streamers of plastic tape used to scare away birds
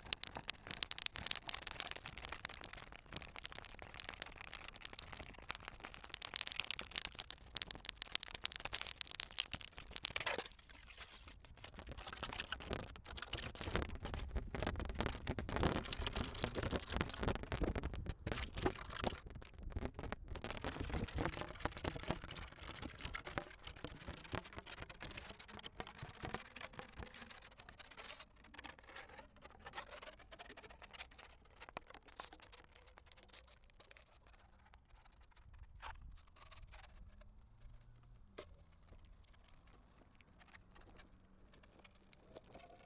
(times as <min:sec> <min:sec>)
0:00.0 0:29.0